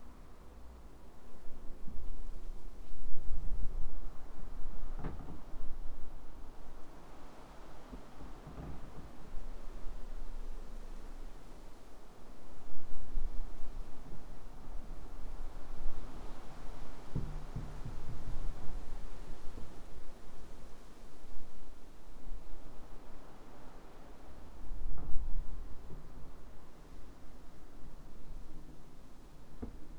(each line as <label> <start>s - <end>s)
Continuous wind 0.0s - 29.9s